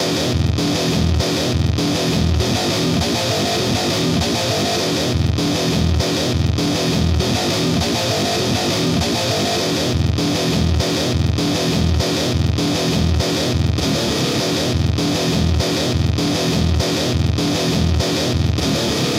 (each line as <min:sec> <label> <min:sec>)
0:00.0 guitar 0:19.1